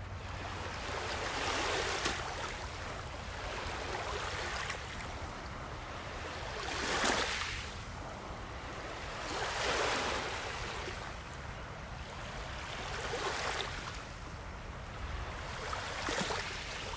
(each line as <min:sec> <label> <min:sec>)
0:00.0 Gentle lake waves hitting the shore 0:16.9